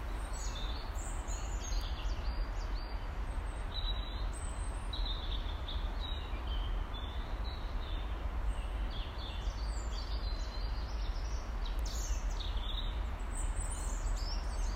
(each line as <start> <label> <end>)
0.0 Bird’s dawn chorus 14.7
0.0 Quiet hum of road 14.7